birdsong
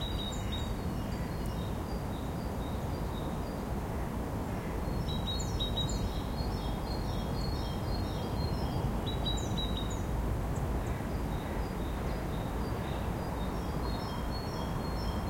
0:00.0 0:03.7

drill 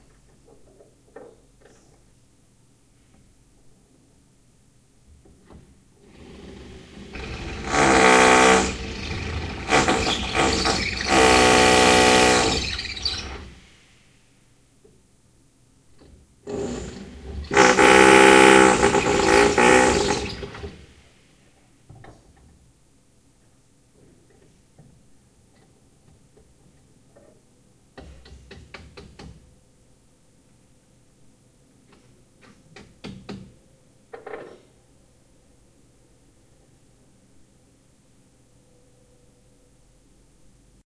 0:06.0 0:13.8, 0:16.5 0:21.0

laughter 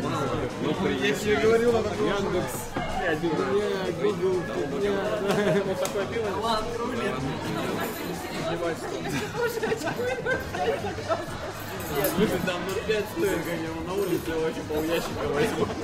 0:05.1 0:06.1, 0:08.7 0:11.8, 0:15.4 0:15.8

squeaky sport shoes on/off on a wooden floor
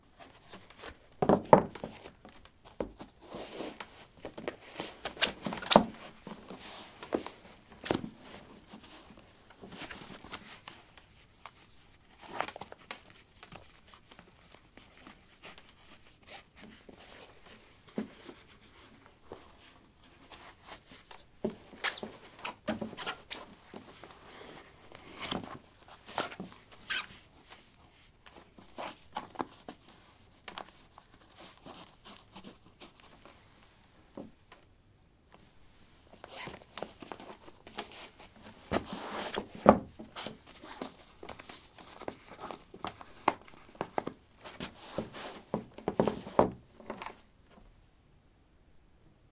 0:05.0 0:07.2, 0:21.4 0:23.6, 0:26.2 0:27.2

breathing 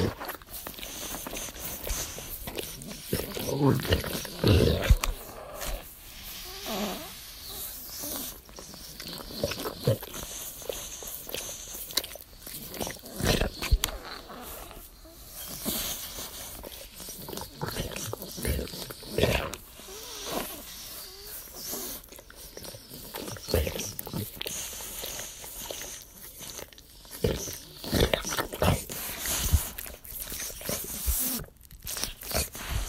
0:32.4 0:32.8

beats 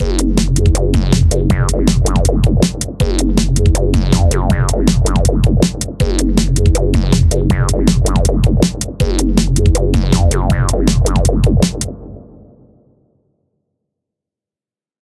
0:00.0 0:11.9

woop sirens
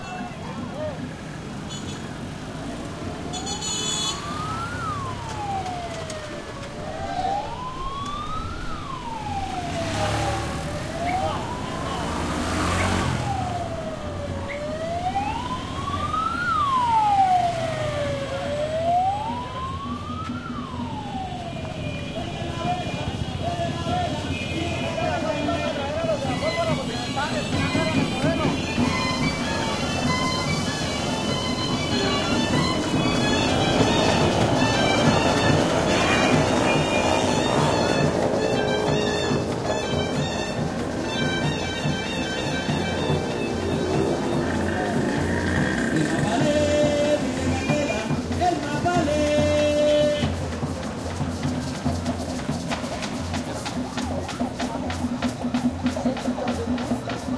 0:02.9 0:24.5, 0:25.4 0:49.5

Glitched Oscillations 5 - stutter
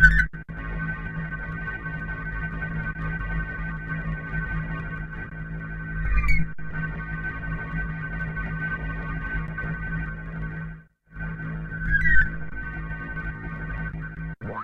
0:14.2 0:14.6

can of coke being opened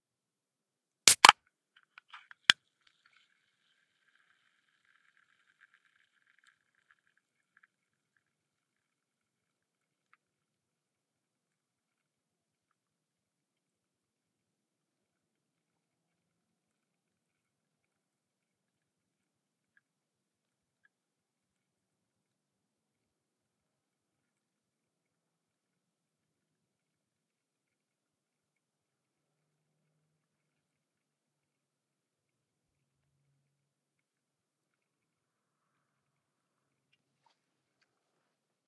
0:01.1 0:01.4

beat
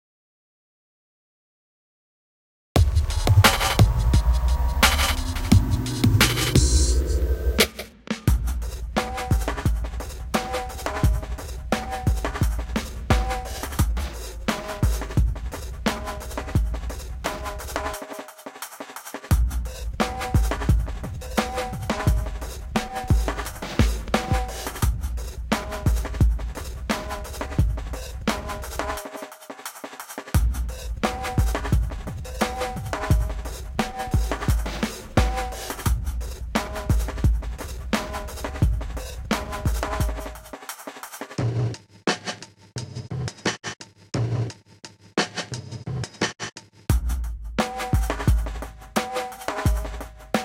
0:02.8 0:18.2, 0:19.3 0:29.3, 0:30.4 0:40.6, 0:46.9 0:50.4

